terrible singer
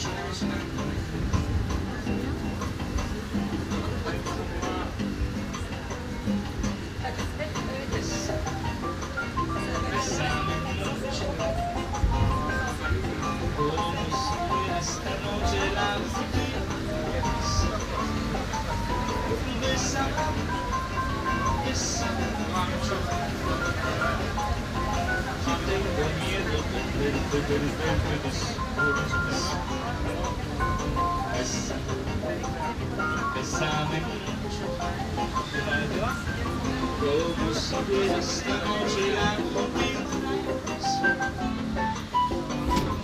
0:09.4 0:41.7

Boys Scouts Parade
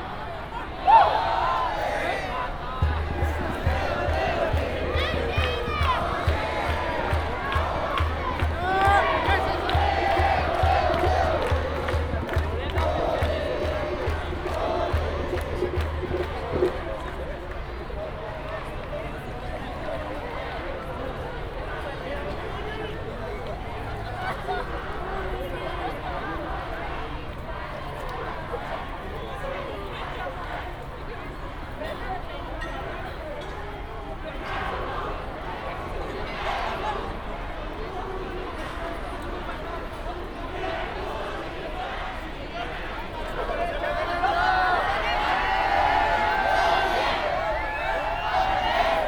0:00.0 0:18.4

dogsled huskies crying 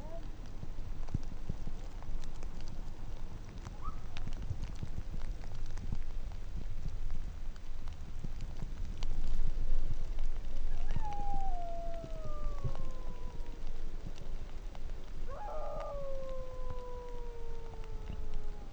0:10.8 0:13.8, 0:15.3 0:18.7

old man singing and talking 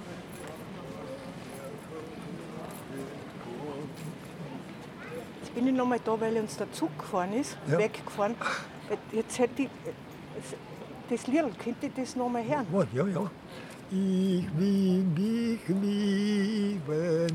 0:07.6 0:09.1, 0:09.8 0:17.3

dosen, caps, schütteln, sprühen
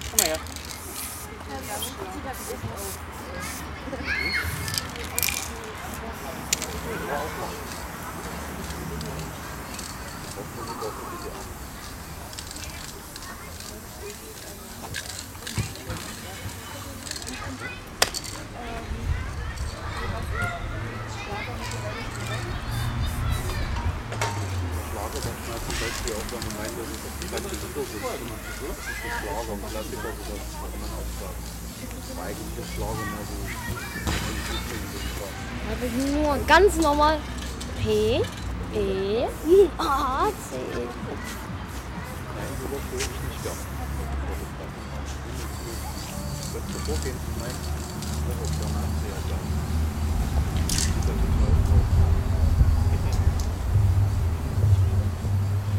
0:00.0 0:03.7, 0:04.3 0:18.5

